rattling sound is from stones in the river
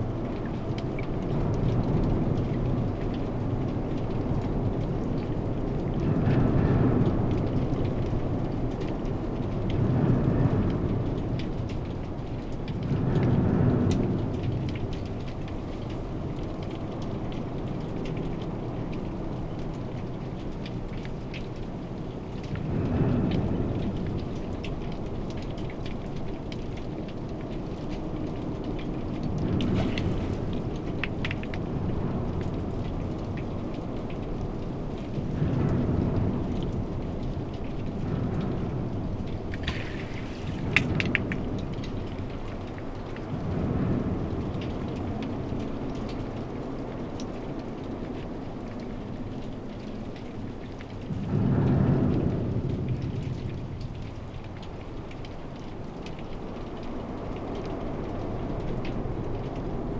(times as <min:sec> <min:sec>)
0:29.6 0:31.5, 0:39.4 0:41.8